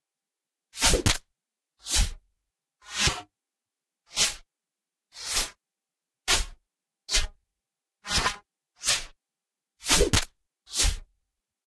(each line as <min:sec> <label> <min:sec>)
0:00.8 dart shotting 0:01.2
0:09.8 dart shotting 0:11.0